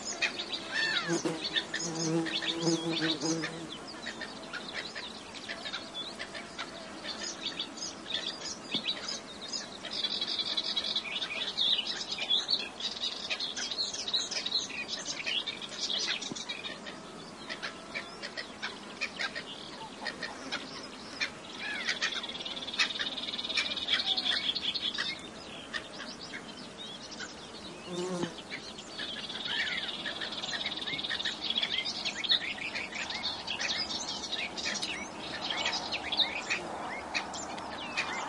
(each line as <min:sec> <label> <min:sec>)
0:00.0 Melodious Warbler 0:38.2
0:00.0 insect buzzings 0:10.7
0:15.5 insect buzzings 0:32.0
0:16.0 Common Coot 0:26.5